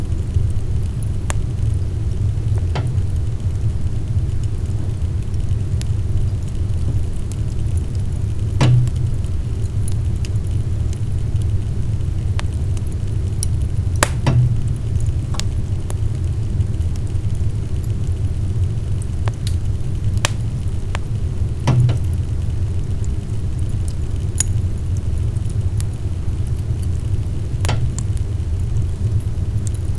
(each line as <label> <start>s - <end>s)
Firepit wood stove small fire 0.0s - 29.9s